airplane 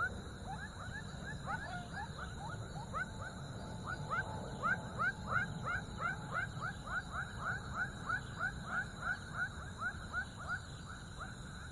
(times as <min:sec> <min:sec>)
0:01.5 0:09.5